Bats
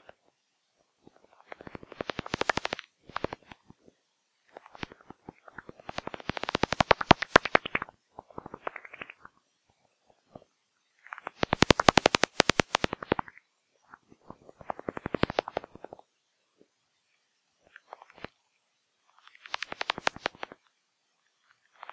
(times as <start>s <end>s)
1.3s 3.6s, 4.5s 9.4s, 10.9s 14.0s